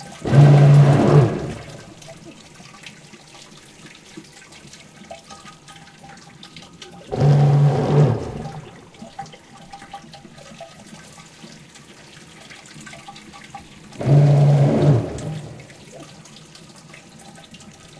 toilet out off order 0.0 - 2.2
toilet out off order 7.1 - 8.9
toilet out off order 14.0 - 16.1

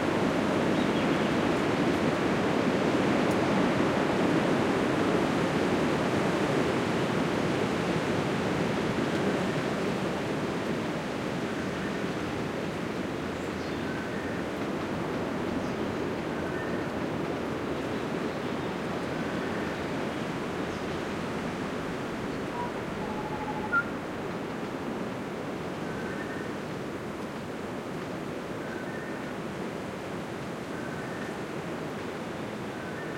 wind 0.0 - 33.1
birdsong 22.3 - 24.0

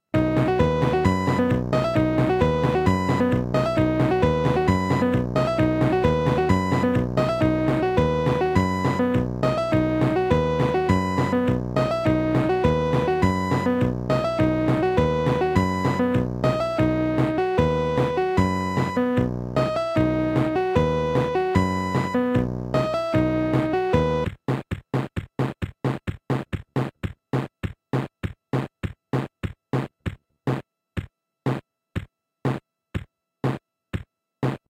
accompaniment section from a cheap kids keyboard 0.2 - 26.4

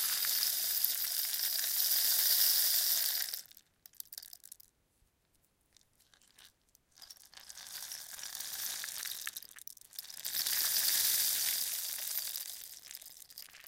rain stick 0.0 - 4.6
rain stick 7.8 - 13.6

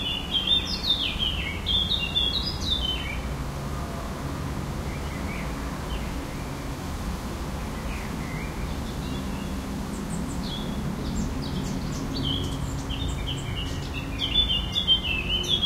birds 0.0 - 3.4
traffic 0.0 - 15.6
wind in the trees 0.0 - 15.6
aircraft 2.7 - 14.4
birds 7.5 - 15.6

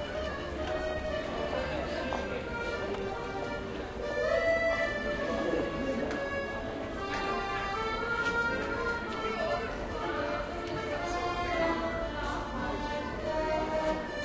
accordion-player 0.0 - 14.2
usual hubbub of the street 0.0 - 14.2

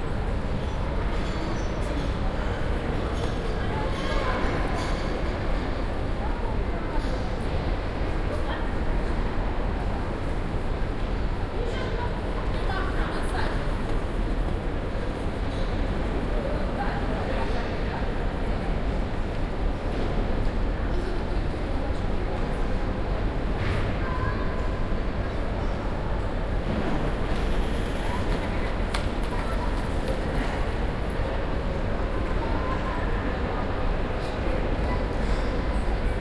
Indistinct voices and chatter 0.0 - 36.2

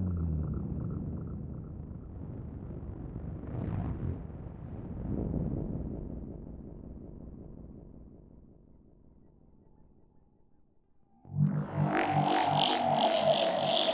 drone 0.0 - 2.4
drone 11.2 - 13.9

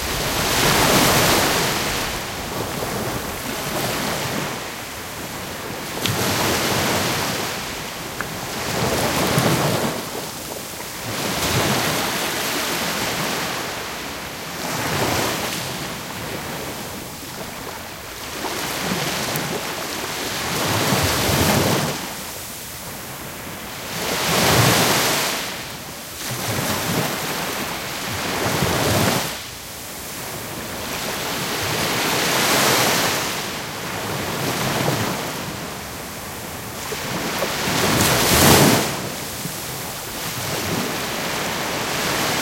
waves 0.0 - 42.4

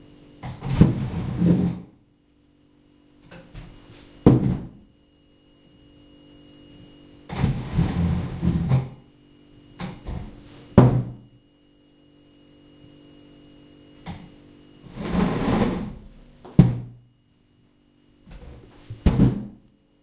Chair being dragged and pushed on hollow floor 0.6 - 1.9
Chair being dragged and pushed on hollow floor 7.3 - 8.9
Chair being dragged and pushed on hollow floor 14.8 - 16.1

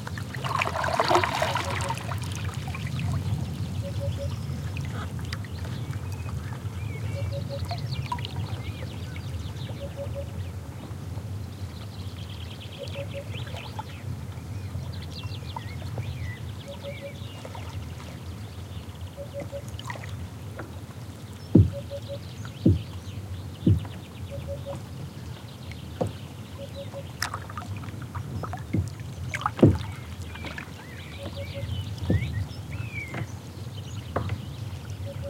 water moved by paddles 0.0 - 35.2
Blackbird 3.8 - 5.1
Blackbird 16.2 - 17.4
Blackbird 21.5 - 22.9
bangs from oars that strike the boat 21.6 - 22.9
Blackbird 23.6 - 24.8
bangs from oars that strike the boat 23.6 - 24.0
bangs from oars that strike the boat 28.7 - 31.4
Blackbird 29.8 - 33.3

